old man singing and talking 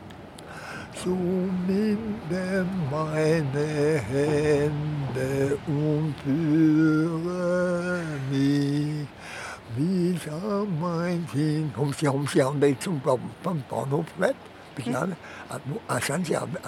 0:09.7 0:16.6

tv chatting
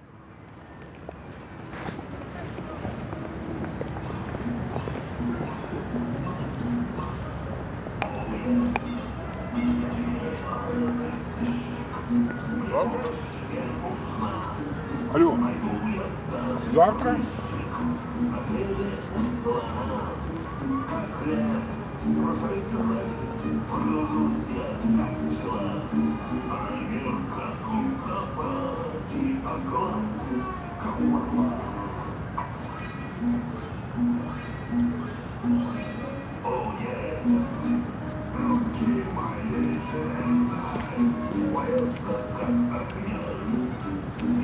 0:29.4 0:44.4

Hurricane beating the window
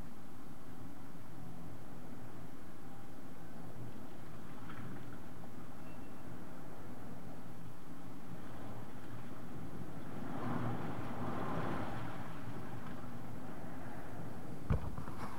0:03.5 0:15.3

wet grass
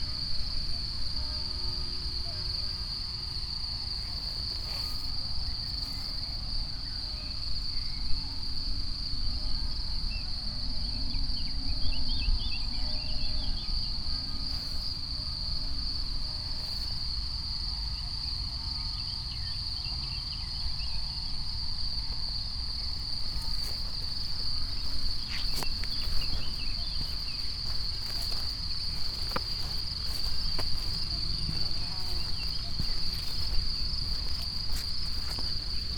0:02.4 0:07.8, 0:14.0 0:17.2, 0:22.8 0:35.9

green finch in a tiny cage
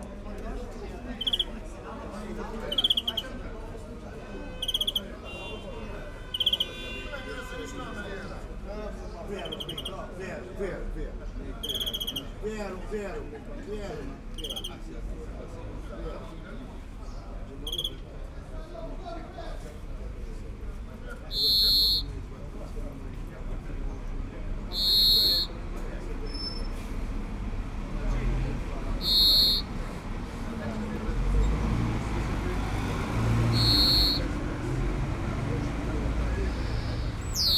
0:01.1 0:01.7, 0:02.6 0:03.4, 0:04.6 0:05.1, 0:06.3 0:06.8, 0:09.4 0:10.0, 0:11.6 0:12.4, 0:14.4 0:14.8, 0:17.1 0:18.0, 0:21.3 0:22.1, 0:24.7 0:25.6, 0:29.0 0:29.8, 0:32.8 0:34.3, 0:36.1 0:37.5

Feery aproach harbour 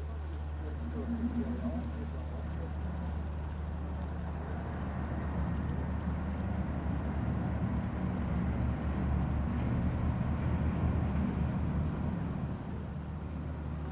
0:00.0 0:04.4

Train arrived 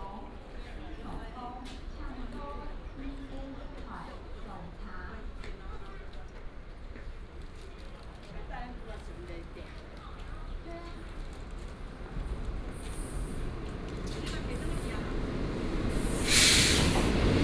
0:11.0 0:17.4

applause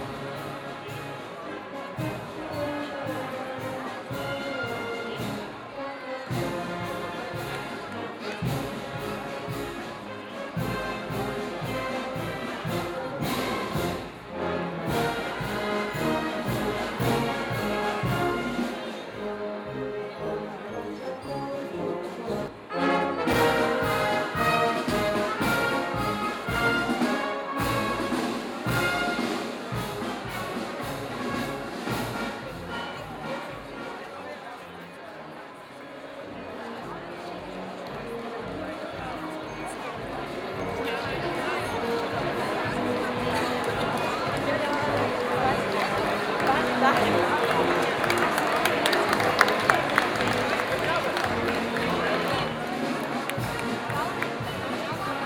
0:43.2 0:55.0

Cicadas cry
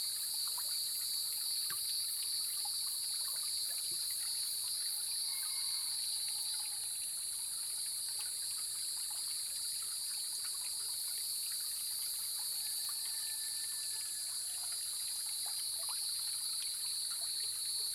0:00.0 0:07.4

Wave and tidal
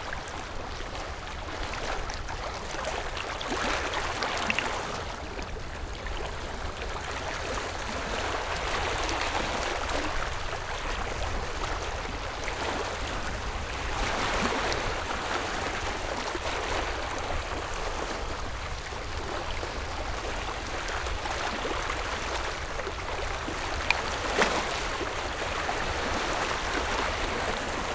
0:12.5 0:27.9

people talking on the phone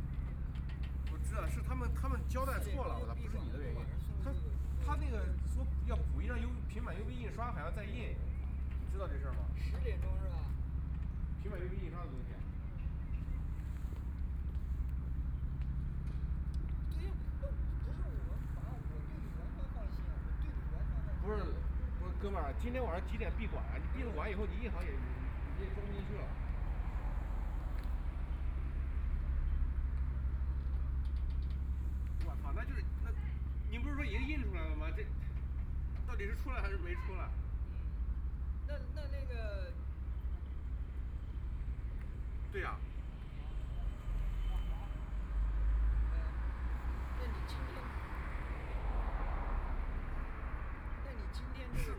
0:00.3 0:12.6, 0:16.7 0:27.9, 0:31.8 0:48.8

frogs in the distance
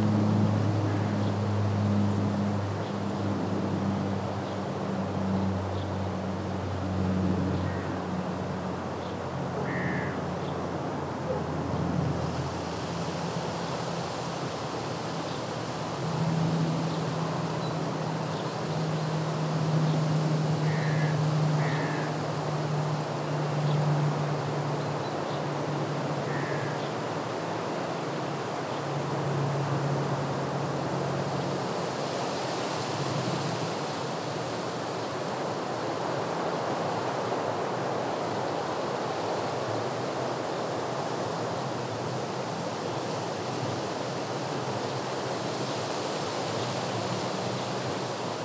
0:00.8 0:03.2, 0:05.2 0:10.6, 0:17.6 0:28.2

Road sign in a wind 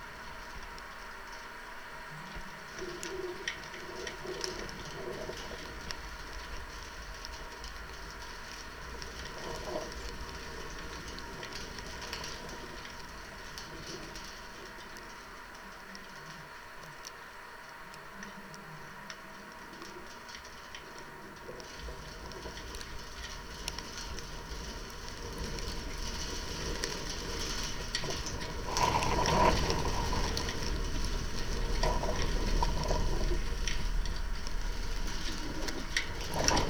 0:17.3 0:36.6

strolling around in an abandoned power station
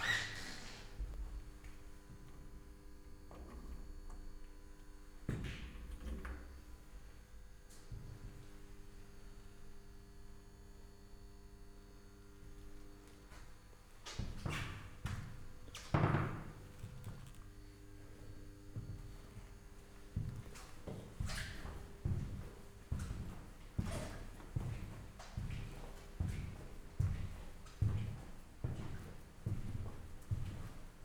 0:12.3 0:15.8, 0:16.6 0:31.0

